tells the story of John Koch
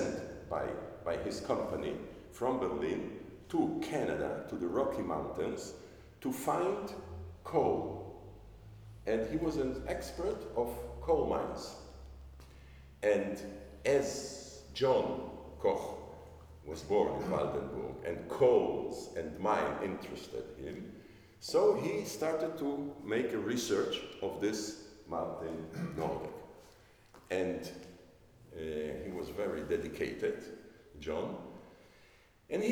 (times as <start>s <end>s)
0.0s 8.2s, 13.0s 26.5s